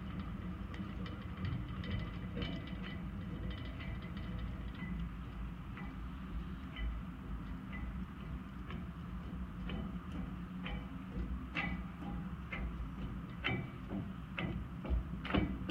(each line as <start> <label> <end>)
8.7 Footbridge Floor 15.7